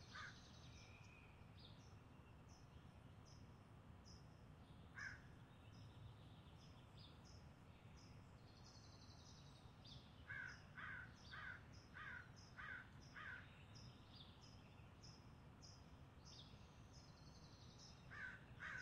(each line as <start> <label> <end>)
0.1 crows 0.4
5.0 crows 5.3
10.3 crows 13.4
18.1 crows 18.8